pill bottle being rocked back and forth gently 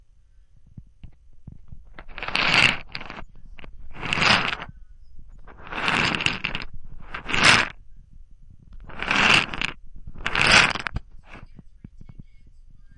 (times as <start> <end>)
1.0 4.7, 5.3 7.8, 8.8 11.6